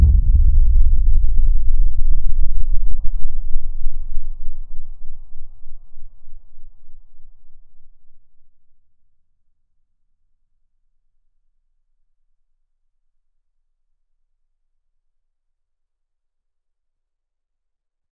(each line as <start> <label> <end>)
0.0 Godzilla stomping 1.6